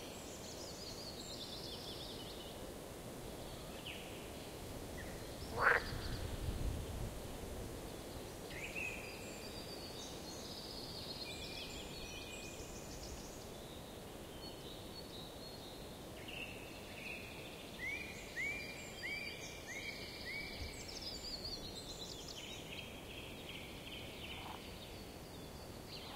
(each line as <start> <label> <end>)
5.0 birds 6.3
5.5 frogs 6.1
16.4 birds 26.1
24.3 frogs 24.7